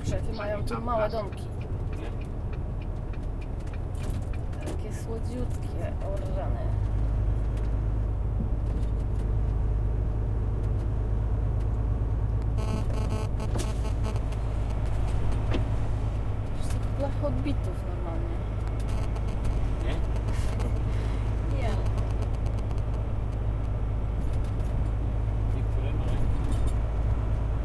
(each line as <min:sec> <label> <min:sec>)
0:00.0 voice of two navigators 0:02.2
0:00.0 engine 0:27.6
0:21.5 voice of two navigators 0:22.6